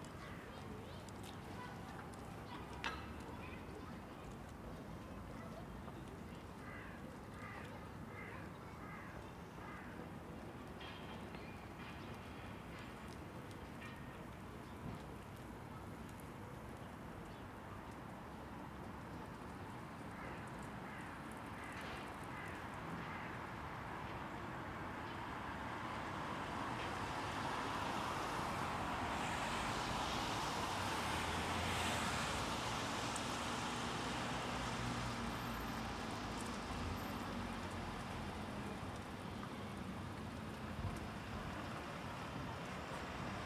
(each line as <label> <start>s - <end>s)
schoolchildren 0.1s - 6.8s
train 9.4s - 16.5s
train 21.4s - 43.4s
cars 25.2s - 43.4s